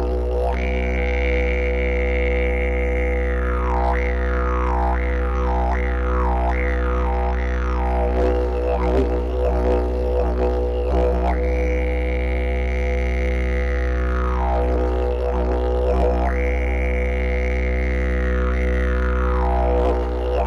didgeridoo 0.0 - 20.4

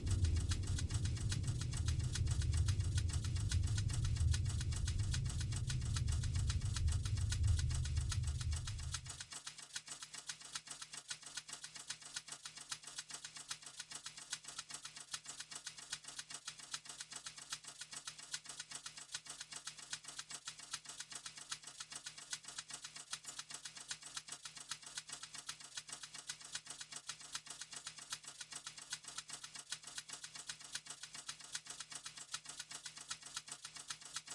typewriter rythym 0.0 - 34.3

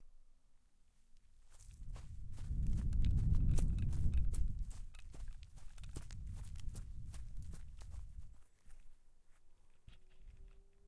quick steps 1.5 - 8.9

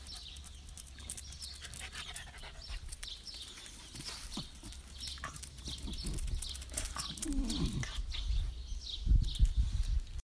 dogs walking 0.0 - 10.2

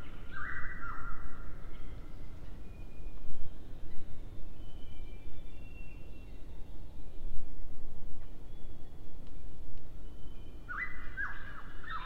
birds 8.2 - 12.0

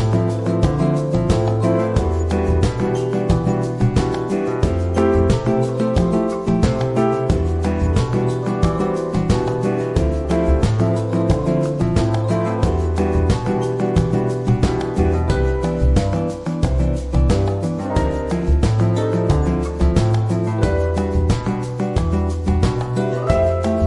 bass 0.0 - 23.8
drum 0.0 - 23.8
guitar 0.0 - 23.8
piano 0.0 - 23.8
shaker 0.0 - 23.8

